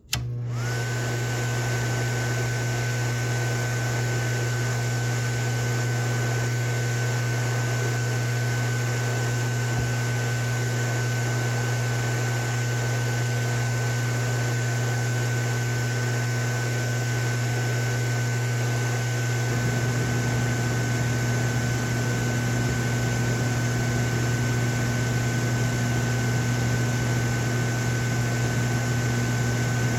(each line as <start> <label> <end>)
16.2 slide projector fan 29.9